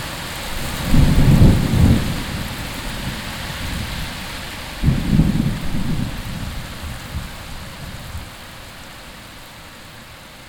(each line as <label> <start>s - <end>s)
clashing rain 0.0s - 10.4s
thunder echoing in the valley 0.8s - 4.0s
thunder echoing in the valley 4.8s - 7.3s